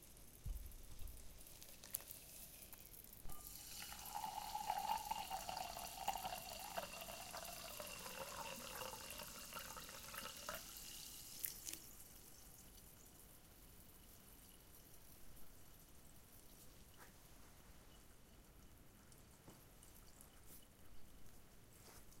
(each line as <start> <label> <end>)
1.1 fill glass with soda 15.0